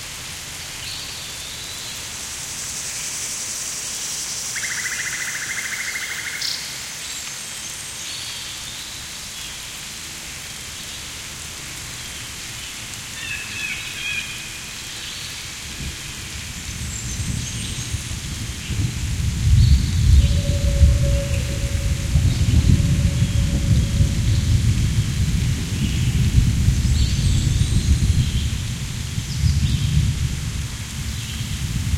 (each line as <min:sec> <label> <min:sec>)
0:00.0 light rain 0:31.9